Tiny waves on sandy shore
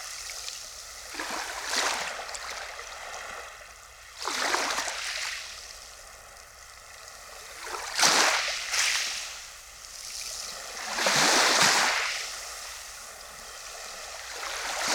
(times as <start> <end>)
7.5 14.9